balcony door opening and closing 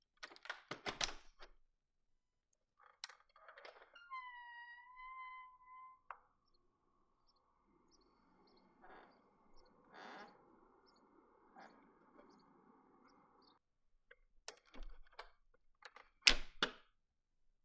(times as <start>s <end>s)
0.2s 1.6s, 2.8s 6.4s, 8.2s 12.9s, 14.4s 16.9s